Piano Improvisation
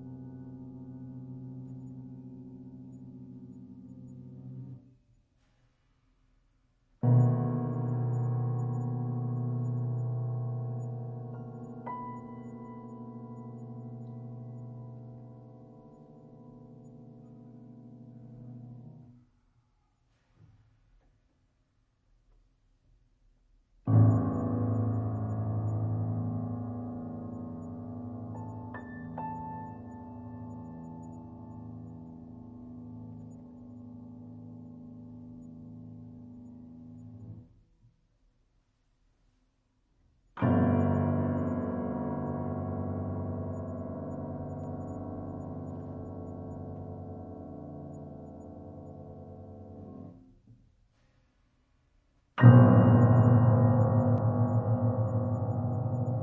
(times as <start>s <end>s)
52.4s 56.2s